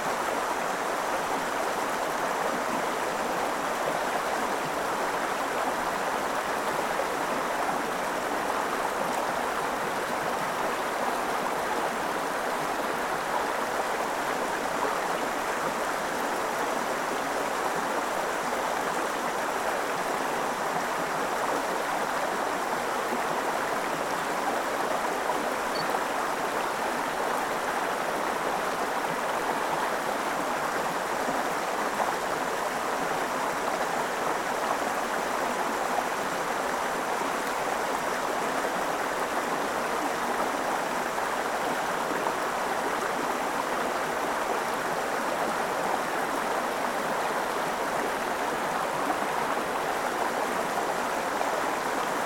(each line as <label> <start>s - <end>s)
petite rivière au calme 0.0s - 52.2s